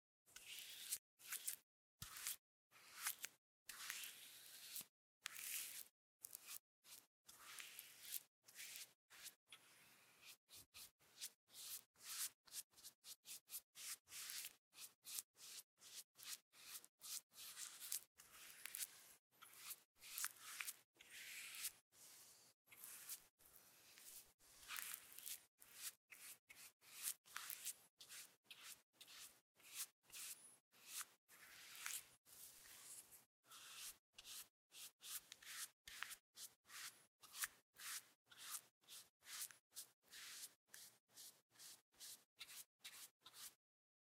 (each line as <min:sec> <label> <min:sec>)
0:13.8 many short brush strokes 0:23.3
0:23.9 many short brush strokes 0:43.6